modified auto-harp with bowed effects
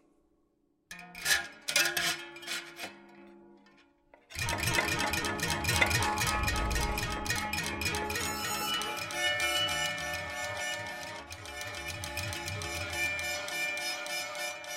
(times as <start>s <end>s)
4.4s 14.7s